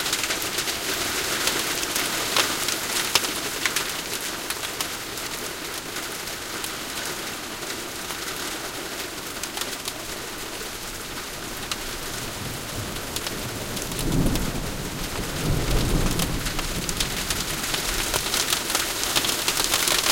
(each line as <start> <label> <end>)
0.0 hail coming down 20.1
0.0 spotty rain 20.1
12.3 peal of thunder 18.2